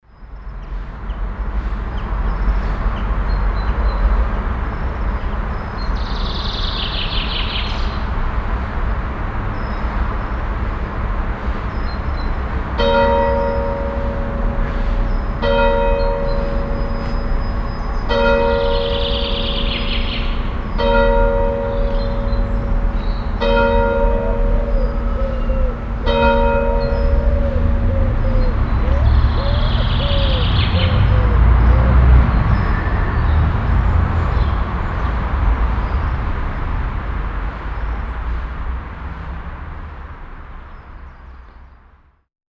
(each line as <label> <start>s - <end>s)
church bells 12.7s - 31.8s